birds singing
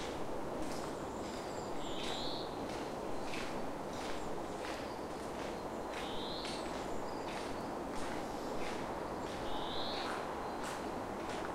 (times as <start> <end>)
9.4 10.7